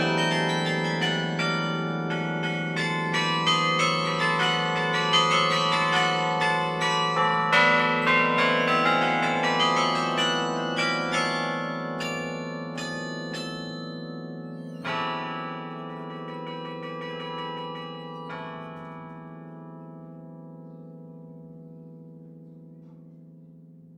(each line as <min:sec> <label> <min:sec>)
0:00.0 Carillon 0:23.9